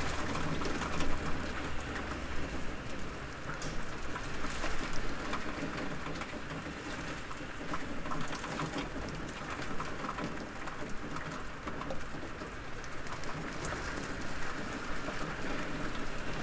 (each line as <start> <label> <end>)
0.0 traffic 7.6
0.0 Rain in a window 16.4
0.0 wind 16.4